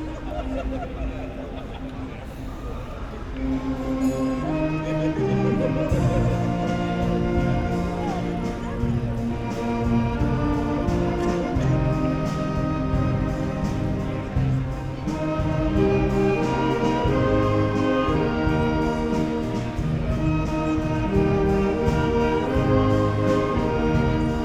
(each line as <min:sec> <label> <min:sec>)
0:03.2 orchestra playing 0:24.4